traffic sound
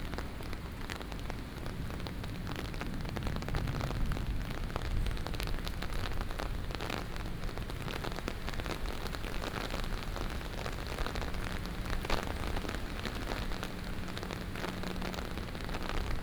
9.8s 16.2s

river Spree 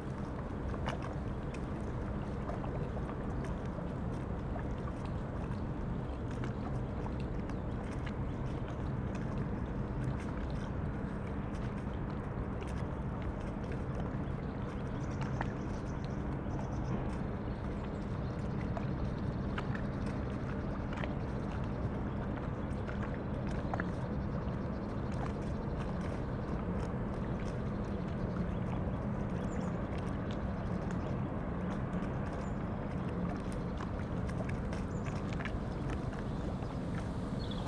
0.0s 8.4s, 25.8s 37.6s

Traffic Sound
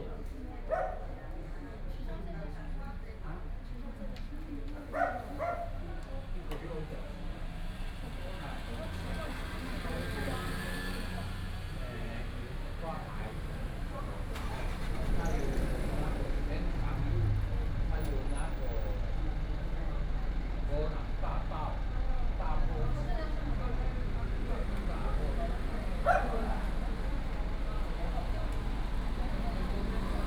7.5s 30.2s

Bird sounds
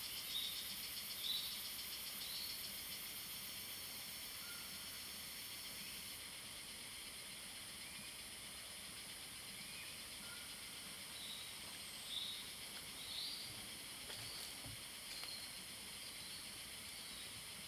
9.4s 17.6s

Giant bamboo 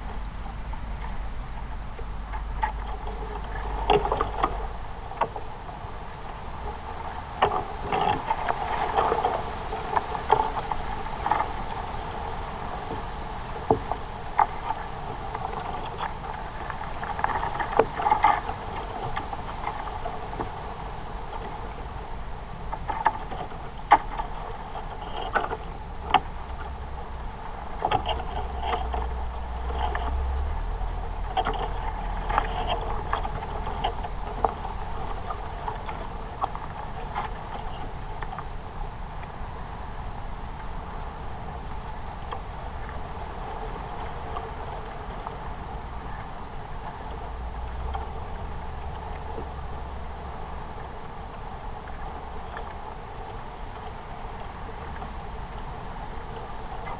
0.0s 38.3s

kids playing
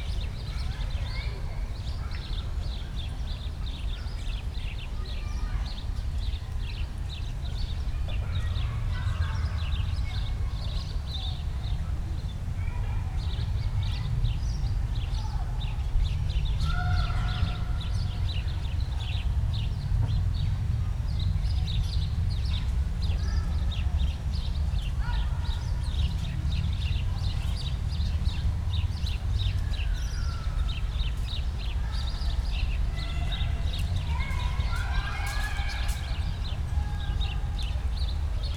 31.7s 38.3s

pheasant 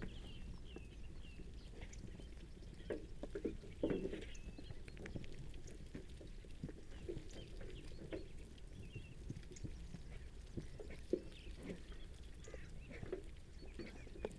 7.0s 14.3s

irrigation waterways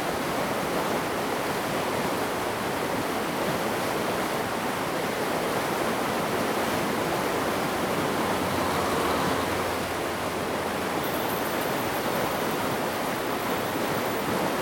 4.0s 14.6s

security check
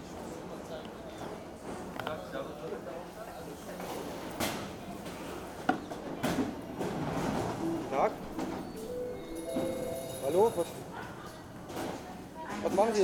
7.5s 10.9s

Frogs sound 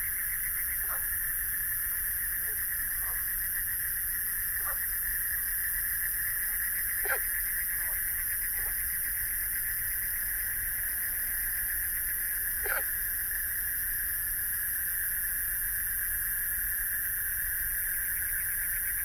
0.0s 14.9s

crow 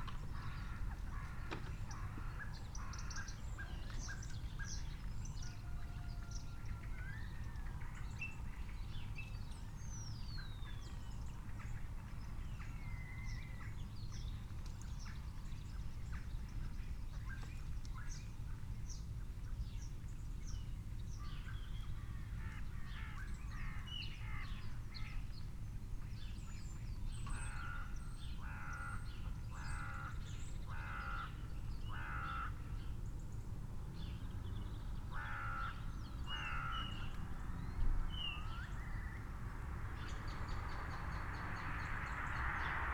27.2s 32.7s, 35.1s 37.1s

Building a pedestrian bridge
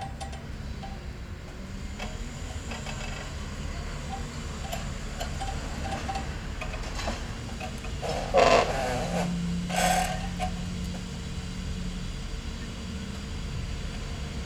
0.0s 11.6s

